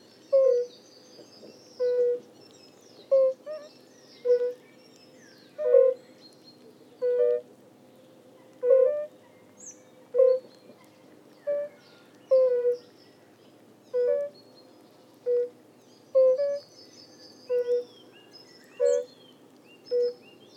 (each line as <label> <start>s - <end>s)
fire-bellied toads(Bombina bombina) singing 1.4s - 2.3s
fire-bellied toads(Bombina bombina) singing 3.1s - 4.6s
fire-bellied toads(Bombina bombina) singing 11.5s - 12.8s
fire-bellied toads(Bombina bombina) singing 15.2s - 16.7s
fire-bellied toads(Bombina bombina) singing 17.4s - 17.9s
fire-bellied toads(Bombina bombina) singing 18.8s - 19.1s
fire-bellied toads(Bombina bombina) singing 19.9s - 20.2s